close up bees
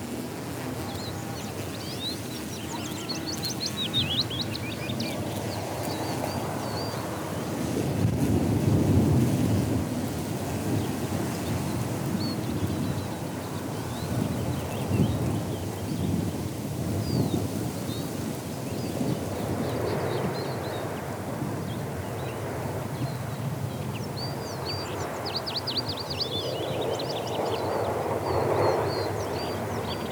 0.0 20.9

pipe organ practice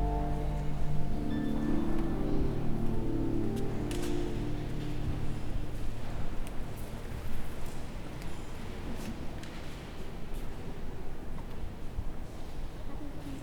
0.0 6.3

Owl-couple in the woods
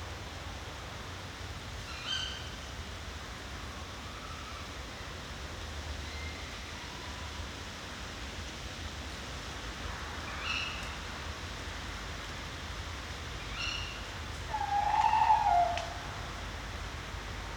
13.5 16.3

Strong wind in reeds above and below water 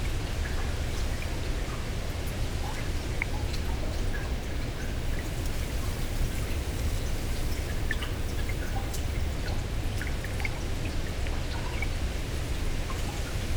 3.6 9.4

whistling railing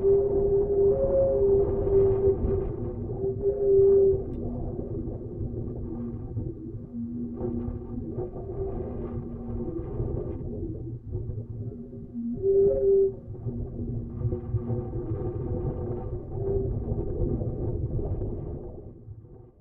12.2 13.3

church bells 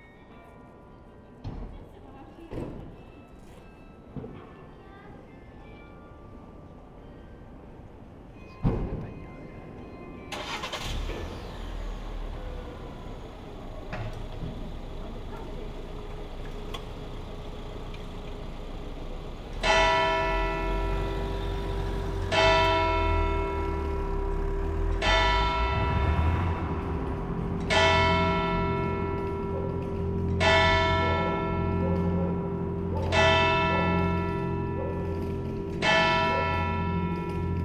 19.5 37.6

